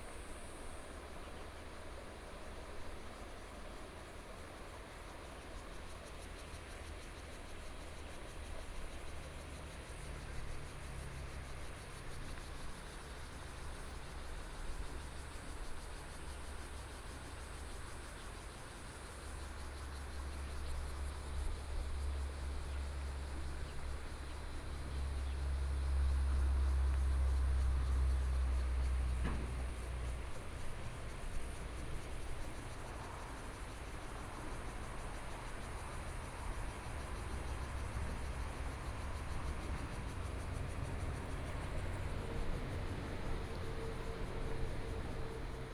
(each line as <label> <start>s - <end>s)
Traffic Sound 34.8s - 45.7s